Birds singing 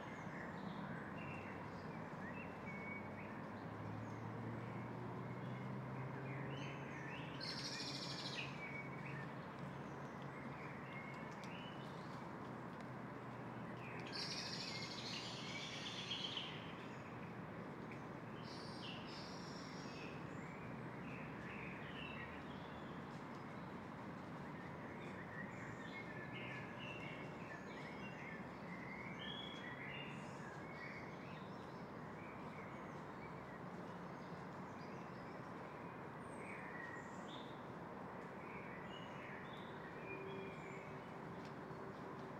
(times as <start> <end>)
0.0 12.2, 13.6 17.2